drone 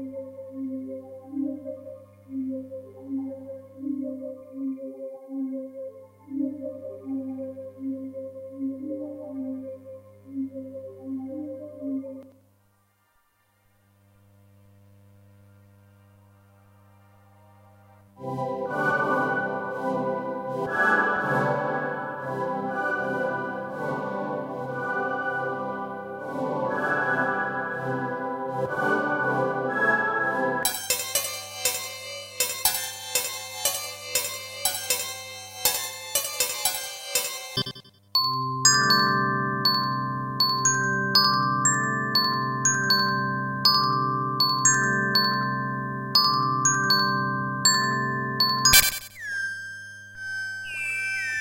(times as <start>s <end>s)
30.6s 51.4s